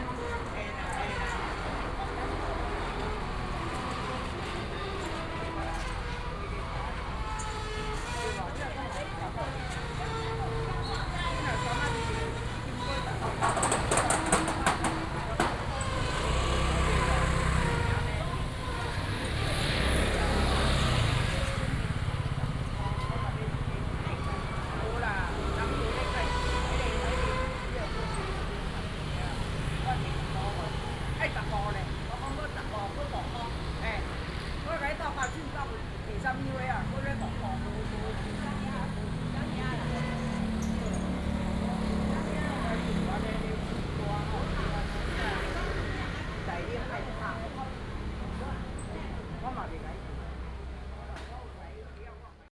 Chatting between the vendors and the people 0:00.0 - 0:52.5
Traffic sound 0:00.0 - 0:52.5

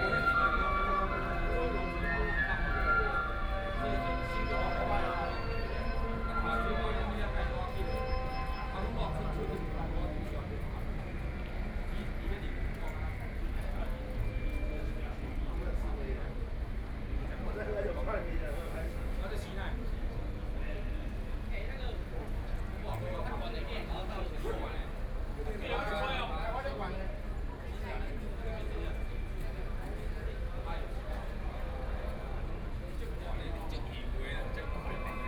Traditional temple festivals 0:00.0 - 0:12.8
Traditional temple festivals 0:33.2 - 0:35.2

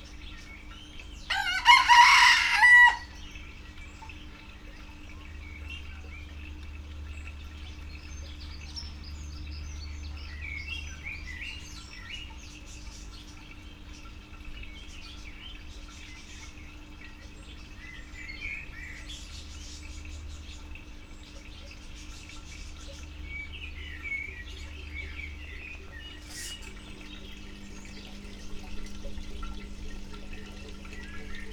a water pump 0:00.0 - 0:31.5
Two roosters communicating 0:01.3 - 0:03.2

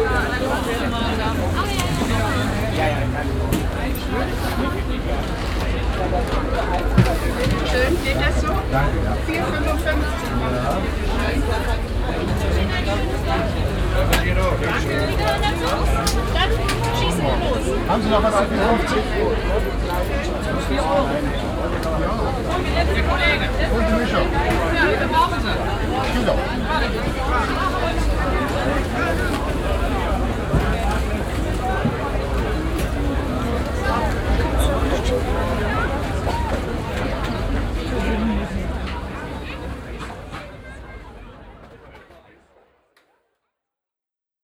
street traffic 0:00.0 - 0:42.6
voices 0:00.0 - 0:42.7

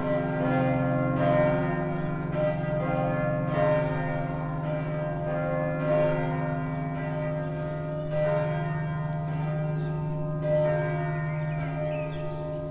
church bells 0:00.0 - 0:12.7

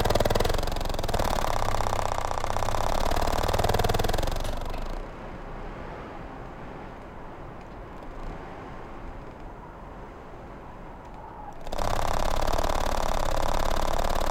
Cold wind through garage door 0:00.0 - 0:14.3

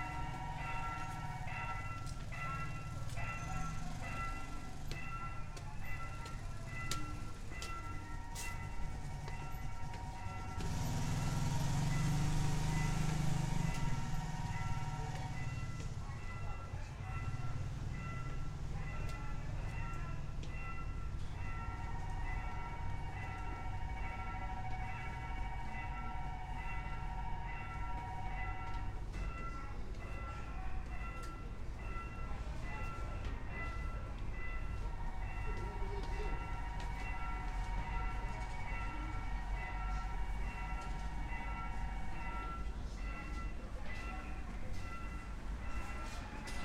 crossing alarm 0:00.0 - 0:46.6

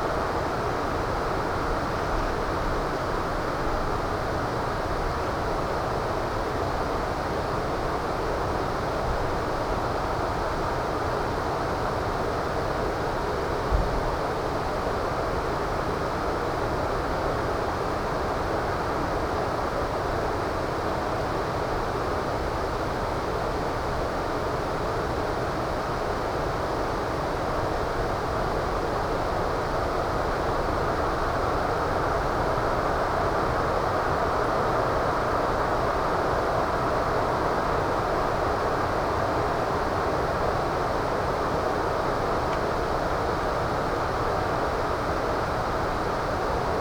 wind 0:00.0 - 0:46.8

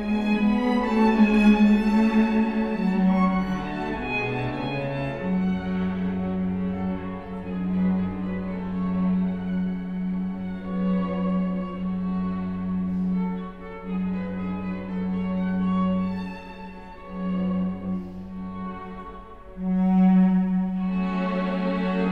string quartet 0:00.0 - 0:22.1

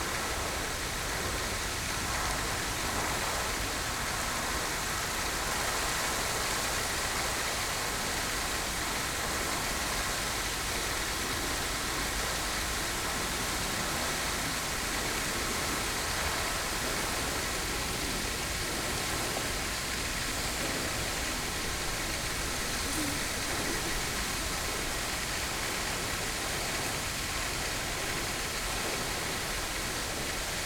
gravity fed fountain 0:00.0 - 0:30.6
voices 0:20.4 - 0:25.3

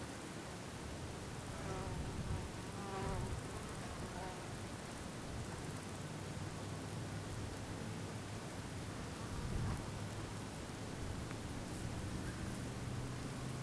wind 0:00.0 - 0:13.6
birds can be heard in a distance 0:10.2 - 0:13.6

